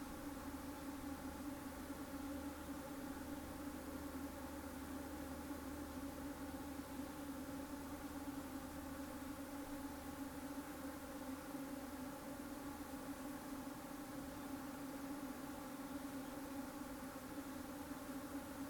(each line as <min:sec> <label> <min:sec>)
0:00.0 bees hum in the forest 0:18.6
0:00.0 other insects 0:18.6